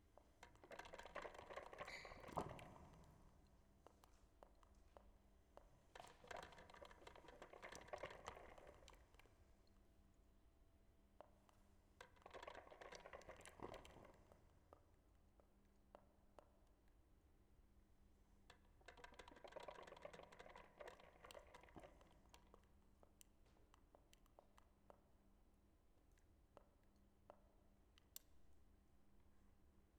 coffe maker 6.0 - 9.1
coffe maker 18.8 - 22.4

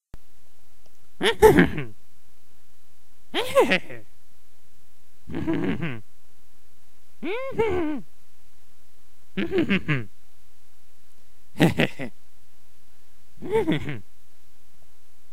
evil chuckles 1.2 - 1.9
evil chuckles 3.4 - 4.1
evil chuckles 5.3 - 6.0
evil chuckles 7.2 - 8.0
evil chuckles 9.4 - 10.1
evil chuckles 11.5 - 12.2
evil chuckles 13.4 - 14.0

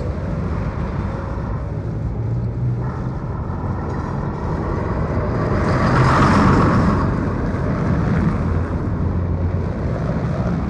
cars 0.0 - 10.6
trams 0.0 - 10.6

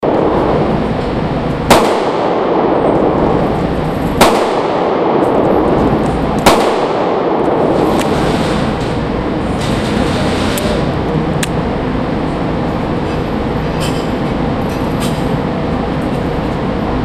Shooting 9mm 1.6 - 3.3
Shooting 9mm 4.2 - 5.8
Shooting 9mm 6.4 - 8.7

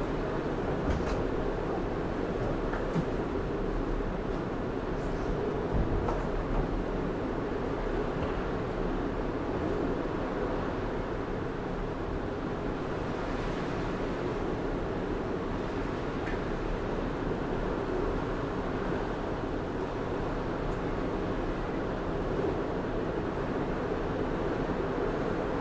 storm 0.0 - 25.6
wind 0.0 - 25.6

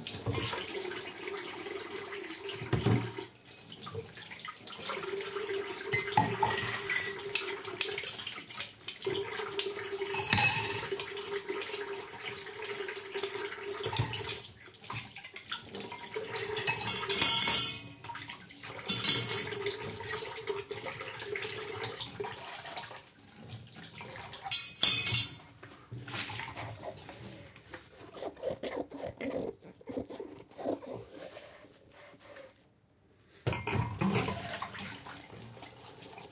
faucet 0.0 - 25.4
drain 0.0 - 27.5
someone washing dishes 0.0 - 32.3
clanking and clinking cutlery and dishes 5.9 - 14.5
clanking and clinking cutlery and dishes 15.3 - 18.2
clanking and clinking cutlery and dishes 18.8 - 21.0
clanking and clinking cutlery and dishes 24.4 - 25.5
someone washing dishes 33.4 - 36.3
clanking and clinking cutlery and dishes 33.5 - 34.9
faucet 33.5 - 36.3
drain 33.6 - 36.3

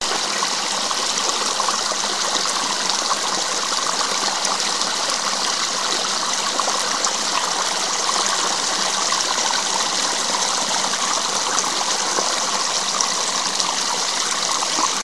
creek 0.0 - 15.0

